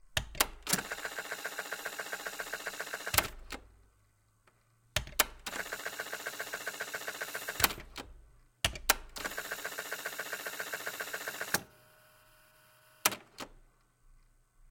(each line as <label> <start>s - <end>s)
tape cassette machine 0.4s - 3.6s
tape cassette machine 5.5s - 8.0s
tape cassette machine 9.2s - 11.7s
tape cassette machine 12.3s - 13.6s